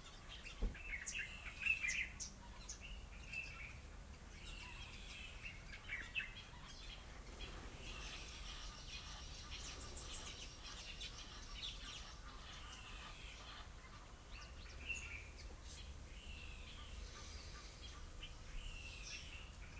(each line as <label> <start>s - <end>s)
birdsong 0.0s - 19.7s